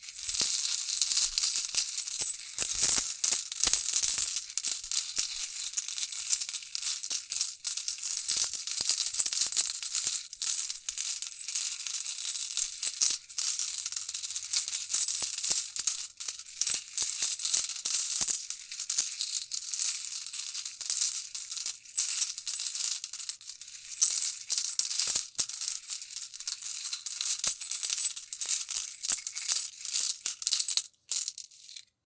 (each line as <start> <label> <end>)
0.2 coins being dropped into palms 10.9
24.0 coins being dropped into palms 32.0